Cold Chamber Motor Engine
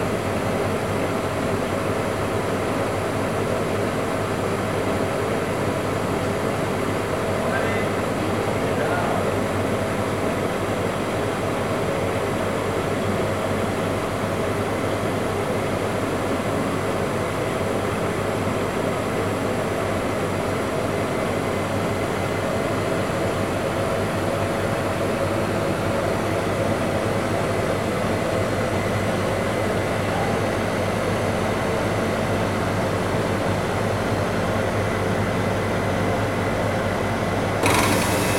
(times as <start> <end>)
37.6 38.3